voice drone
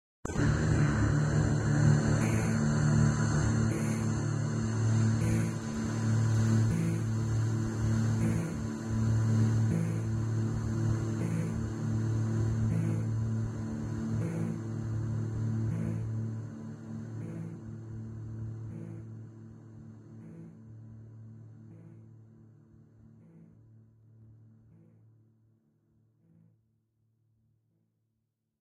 0:00.3 0:07.3, 0:07.9 0:10.2, 0:11.1 0:11.7, 0:12.6 0:13.6, 0:14.2 0:14.7, 0:15.6 0:16.2, 0:17.2 0:17.7

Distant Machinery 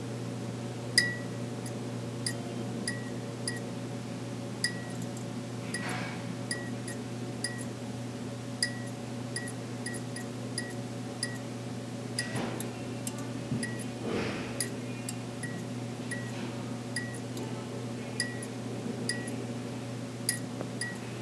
0:04.6 0:07.7

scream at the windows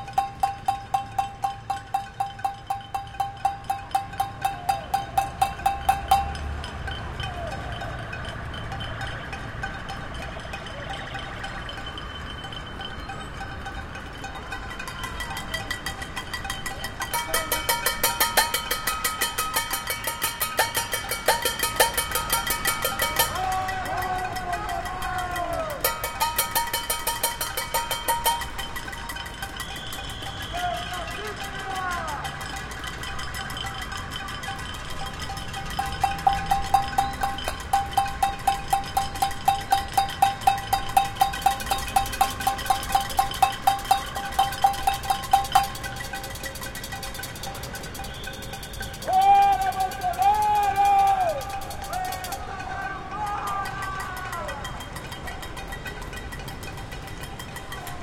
0:49.0 0:54.6

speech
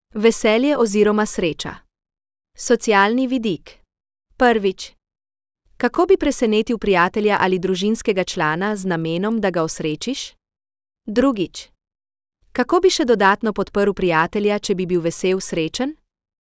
0:00.2 0:01.8, 0:02.6 0:03.8, 0:04.4 0:05.0, 0:05.8 0:10.4, 0:11.1 0:11.8, 0:12.6 0:16.0

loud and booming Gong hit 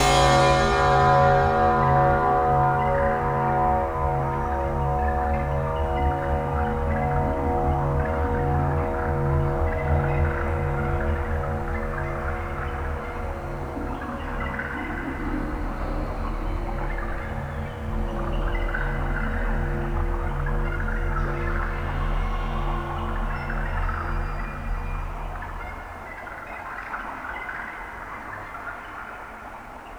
0:00.0 0:08.8

